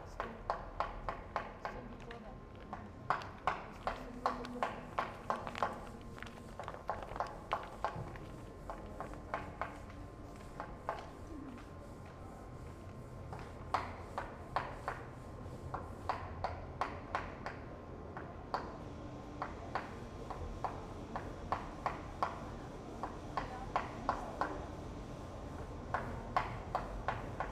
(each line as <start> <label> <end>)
0.0 worker renovats a room 2.0
0.0 people walking by 27.5
2.6 worker renovats a room 27.5